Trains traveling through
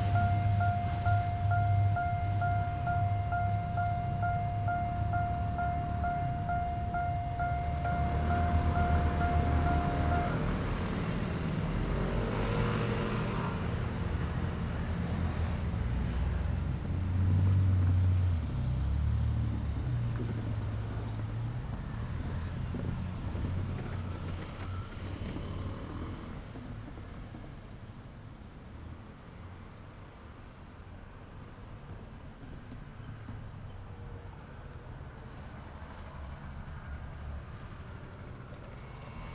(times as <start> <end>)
0.0 27.8